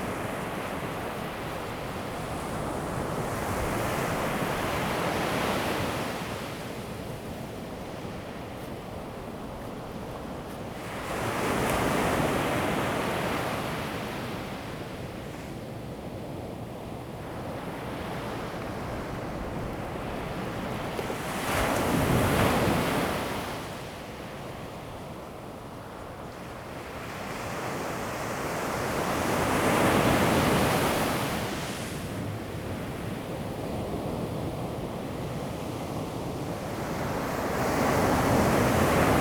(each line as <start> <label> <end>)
0.0 waves 15.9
16.9 waves 39.2